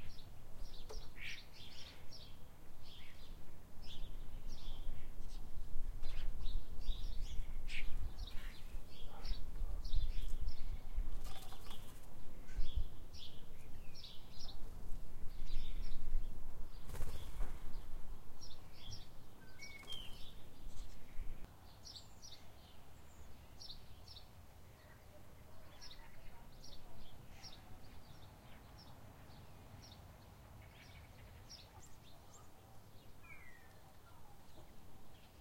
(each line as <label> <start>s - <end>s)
Blackbird 0.0s - 35.4s
House sparrows 0.0s - 35.4s
collared dove 6.0s - 17.9s